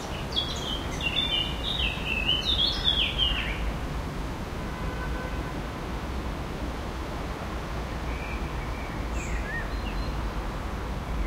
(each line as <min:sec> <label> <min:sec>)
0:00.0 birds 0:03.7
0:00.0 traffic 0:11.2
0:00.0 wind in the trees 0:11.2